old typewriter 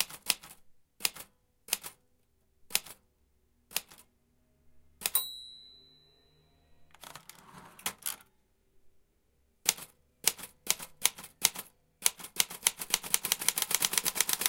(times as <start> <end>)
3.7 4.0, 9.7 14.4